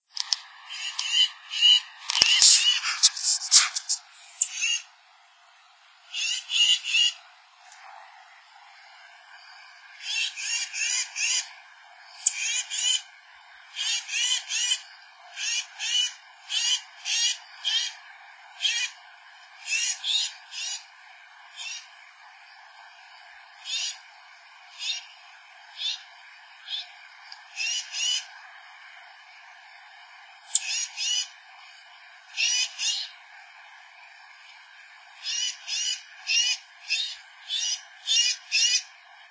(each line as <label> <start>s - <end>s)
unknown bird's song 0.6s - 4.9s
unknown bird's song 6.1s - 7.2s
unknown bird's song 9.9s - 11.6s
unknown bird's song 12.2s - 13.1s
unknown bird's song 13.7s - 19.0s
unknown bird's song 19.6s - 20.9s
unknown bird's song 21.5s - 21.9s
unknown bird's song 23.6s - 24.1s
unknown bird's song 24.7s - 28.3s
unknown bird's song 30.5s - 31.4s
unknown bird's song 32.3s - 33.2s
unknown bird's song 35.2s - 38.9s